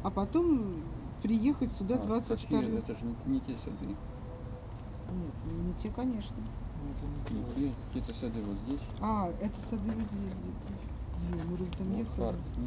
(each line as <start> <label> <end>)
0.0 russian scientists discuss 4.0